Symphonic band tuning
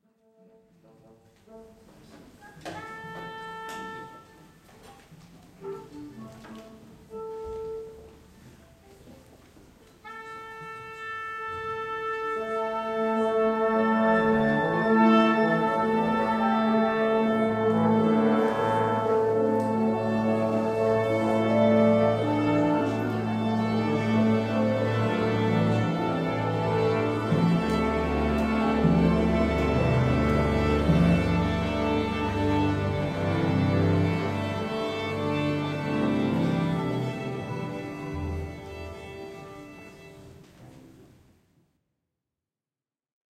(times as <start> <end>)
1.5 4.6, 10.0 40.8